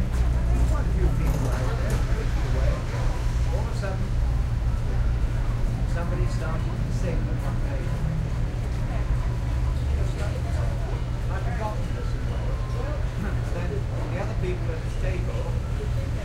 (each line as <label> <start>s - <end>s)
street sounds 0.0s - 16.2s